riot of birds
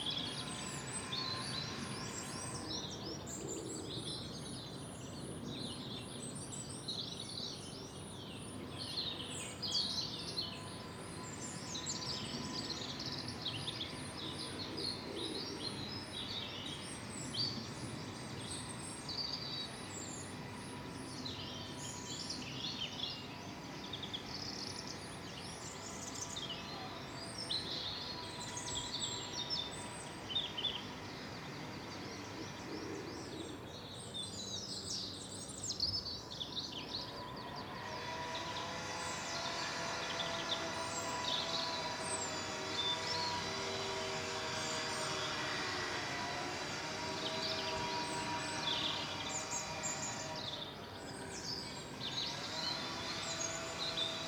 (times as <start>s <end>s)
10.9s 54.2s